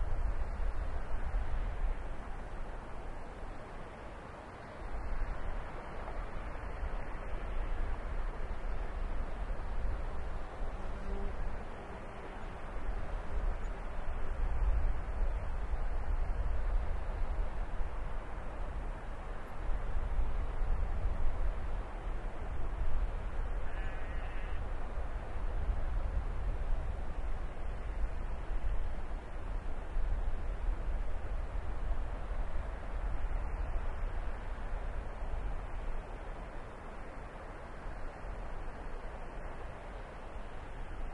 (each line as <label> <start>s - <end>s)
waterfall in the distance 0.0s - 41.1s
windy evening 0.0s - 41.1s